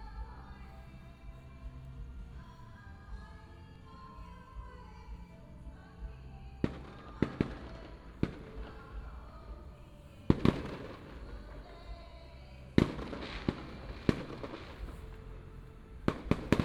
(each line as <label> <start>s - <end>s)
fireworks 6.6s - 12.0s
fireworks 12.7s - 15.4s
fireworks 16.0s - 16.6s